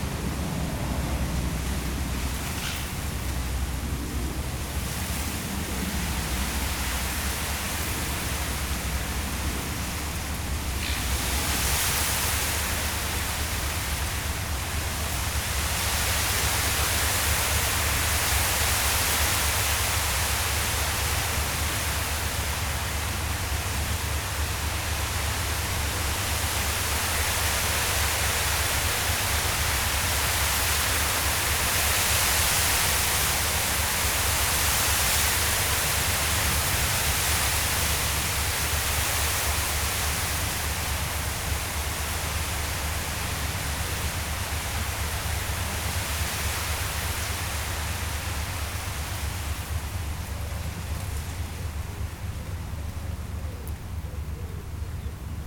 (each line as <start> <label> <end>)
0.0 Wind in the reeds 55.4
2.2 Eurasian reed warbler 3.4